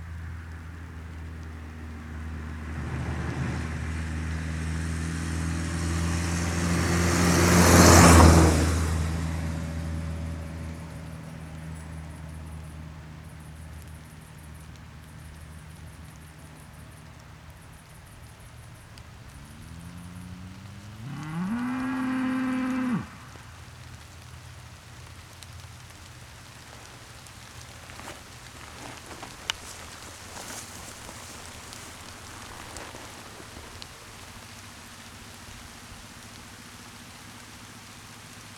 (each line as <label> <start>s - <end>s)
car passing by 0.2s - 13.0s
rain setting in 5.7s - 38.5s
car passing by 19.0s - 38.5s
cows mooing 20.8s - 23.2s